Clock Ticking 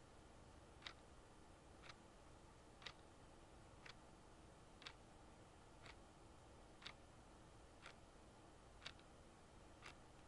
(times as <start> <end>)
0.8 1.0, 1.8 2.1, 2.8 3.1, 3.8 4.0, 4.8 5.0, 5.8 6.0, 6.7 7.0, 7.8 8.0, 8.8 9.1, 9.7 10.2